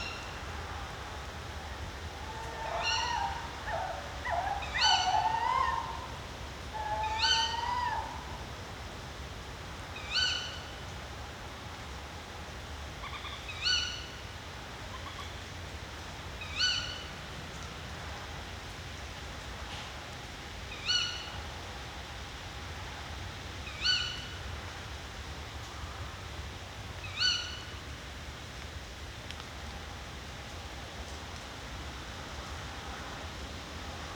0.0s Owl-couple in the woods 11.0s
12.9s Owl-couple in the woods 17.3s
20.7s Owl-couple in the woods 21.6s
23.0s Owl-couple in the woods 28.0s

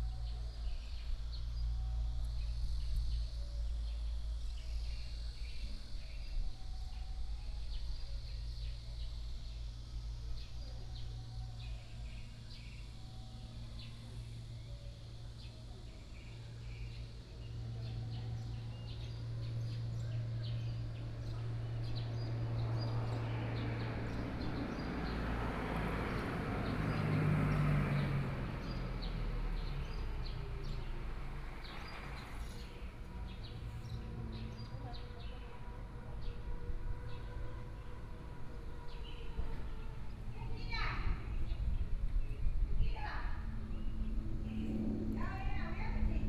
8.4s Birdsong sound 46.0s
18.7s Traffic Sound 41.9s

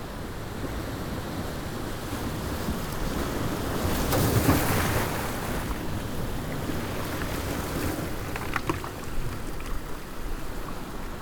0.0s wind 11.2s
6.4s breaking waves against a concrete blocks 10.2s

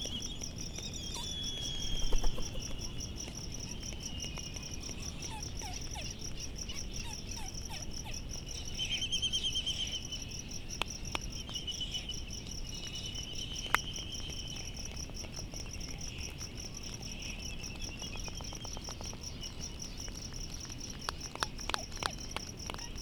0.0s cricket 23.0s
0.0s white terns 10.6s

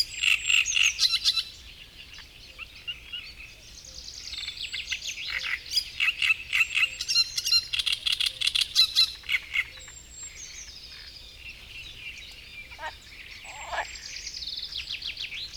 9.0s great reed warbler singing 15.5s
12.4s frog chorus 14.3s

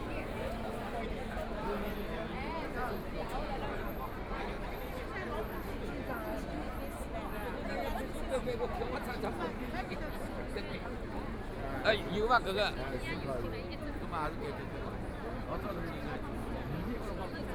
0.0s a lot of people 17.5s

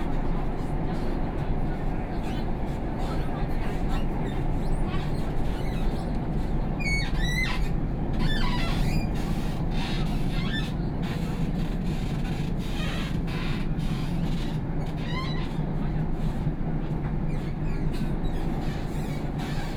0.0s Line 8 (Shanghai Metro) 19.7s

